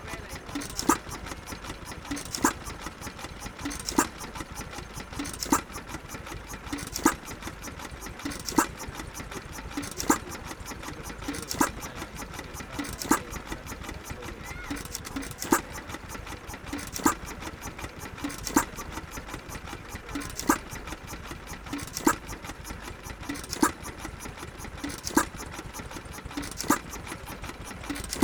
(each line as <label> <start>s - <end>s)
Static engine 0.0s - 28.2s